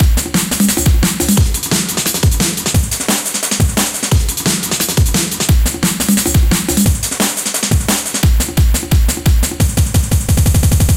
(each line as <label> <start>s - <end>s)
snare 0.0s - 10.9s